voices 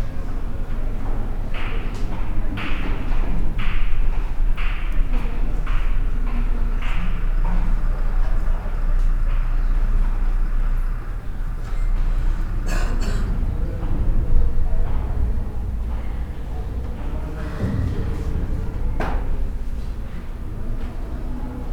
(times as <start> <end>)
4.9 21.7